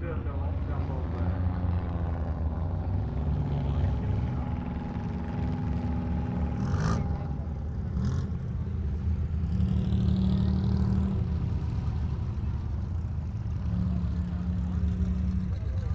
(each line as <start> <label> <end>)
0.0 cars 15.9
0.0 motorbikes 15.9
0.0 vans 15.9